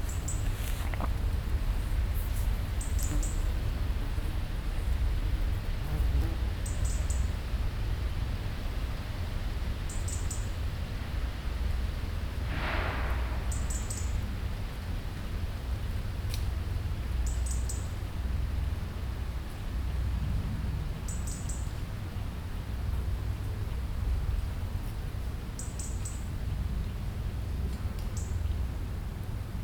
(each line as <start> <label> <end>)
12.0 huge building site 16.5